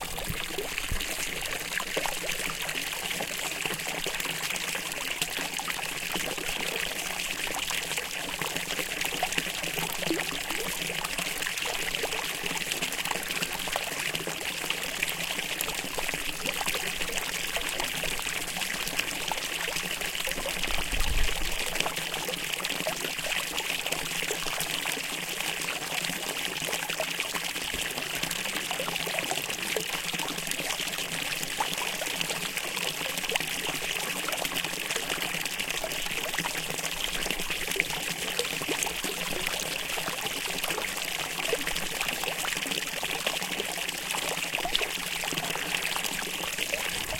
0.0s fountain 47.1s

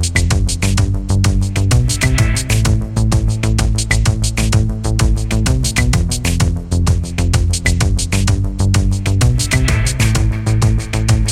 0.0s Beat 11.3s
1.5s Synth 4.1s
9.2s Synth 11.3s

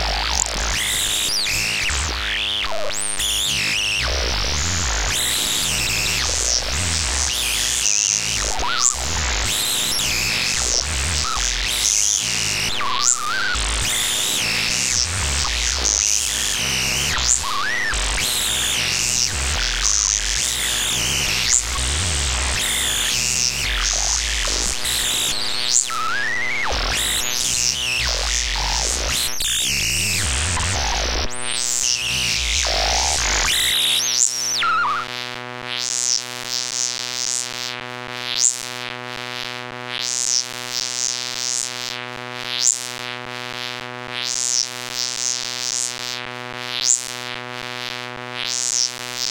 0.0s Glitched Oscillations 35.1s

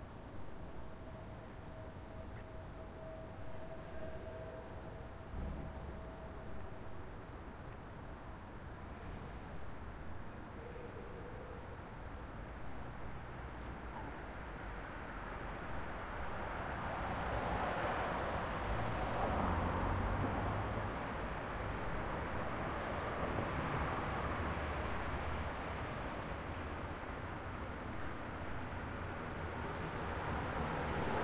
0.0s wind 31.2s
11.8s car 31.2s

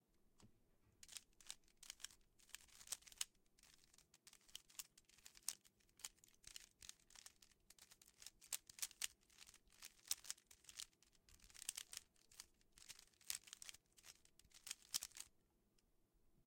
1.0s twisting of a rubix cube 15.3s

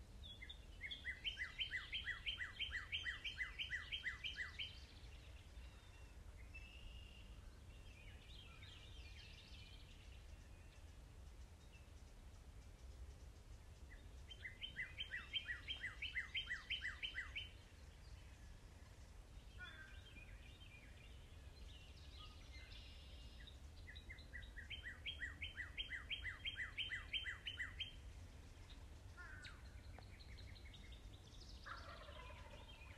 0.0s birds 32.9s

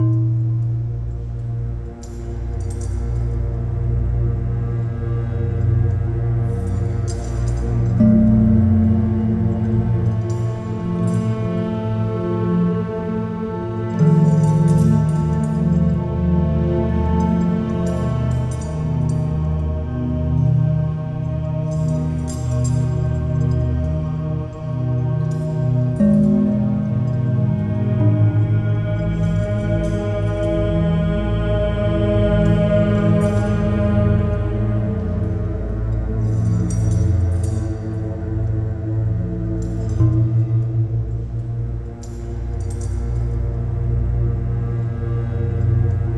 0.0s orchestral drone 46.1s

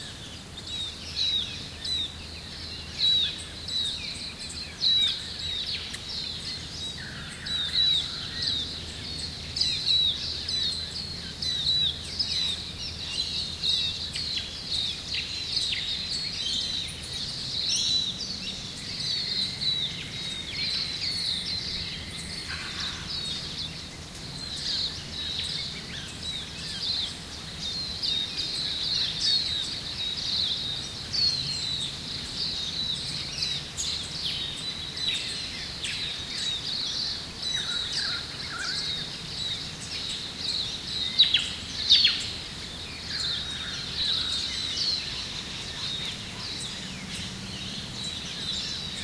0.0s birds 49.0s

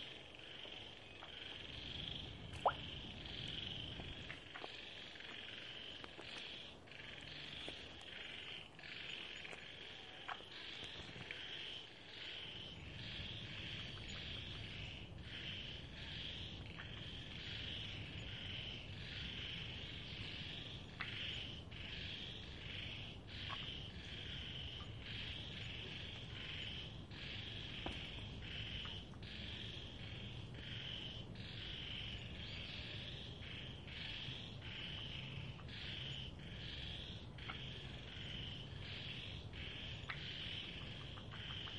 0.0s Frogs 41.7s
0.0s Insects 41.7s

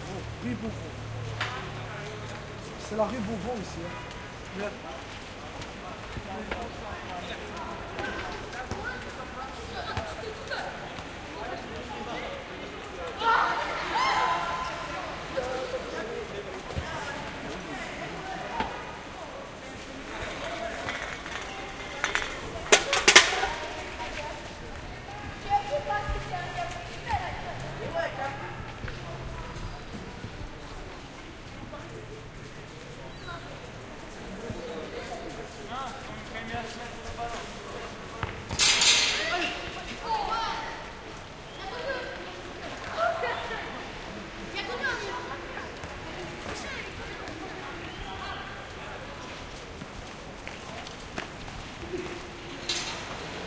0.1s kids playing soccer 53.4s

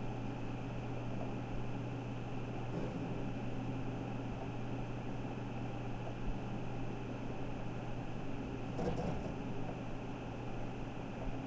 0.0s scratching and whirring of a mechanical hard drive 11.4s

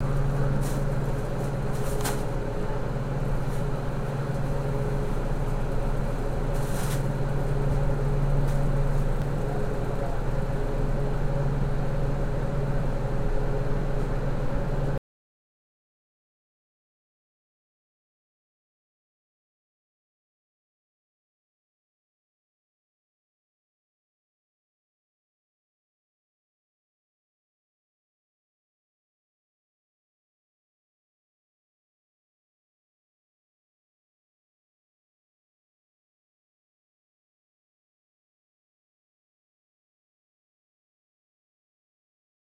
0.0s refrigerator 15.0s

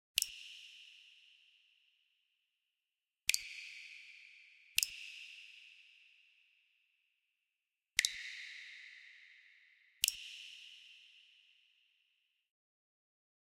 0.2s Water drops 0.6s
3.3s Water drops 4.0s
4.8s Water drops 5.3s
8.0s Water drops 8.8s
10.0s Water drops 10.5s

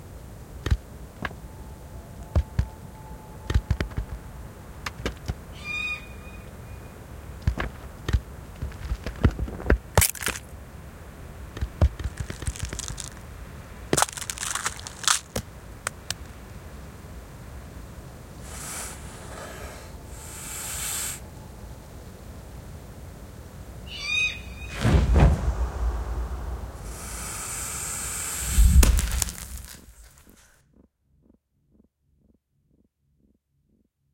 5.5s owl 7.0s
9.9s snatching snake eggs 10.5s
10.0s baby snake hatches 10.5s
11.5s snatching snake eggs 16.4s
12.0s baby snake hatches 13.2s
13.9s baby snake hatches 16.3s
18.4s snatching snake eggs 21.3s
18.4s owl 21.6s
18.4s baby snake hatches 21.2s
23.8s owl 24.8s
26.8s baby snake hatches 30.5s
26.8s snatching snake eggs 30.5s
26.9s owl 29.3s

